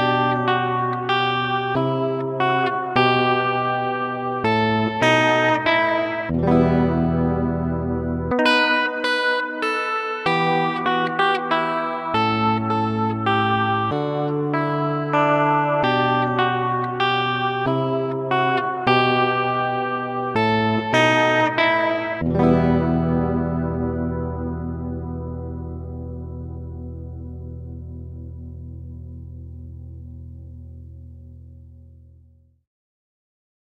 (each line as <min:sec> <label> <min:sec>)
0:00.0 Squire Telecaster 0:32.6